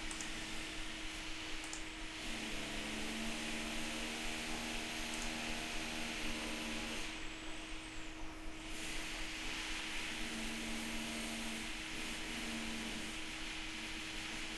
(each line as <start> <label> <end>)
2.2 drill 7.1